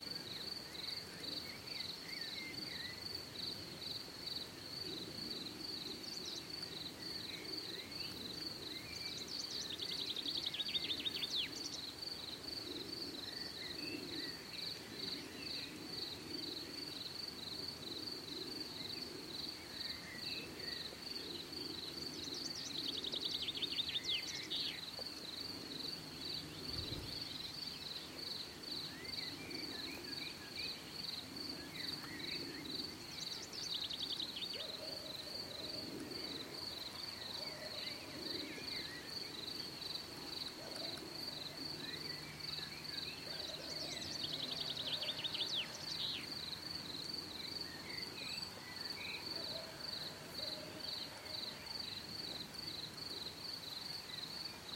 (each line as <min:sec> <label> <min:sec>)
0:00.0 birds 0:54.7
0:00.0 insects 0:54.7
0:00.0 wind 0:54.7